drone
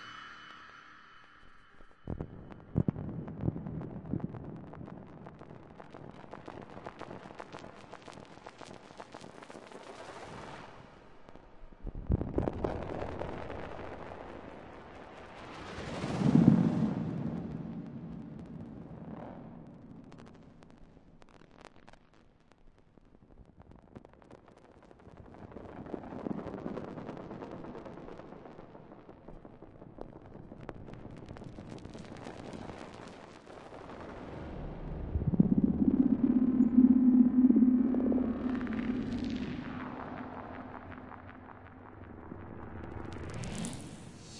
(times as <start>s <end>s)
0.0s 3.1s, 33.7s 44.3s